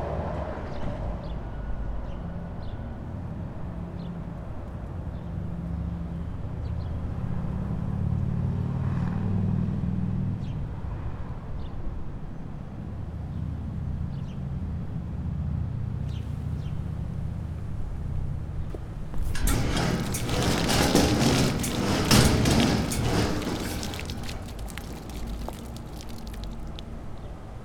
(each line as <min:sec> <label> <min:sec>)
0:19.2 Plätschern des Wassers 0:26.9
0:19.2 Glissando eines quietschenden Metalls 0:26.8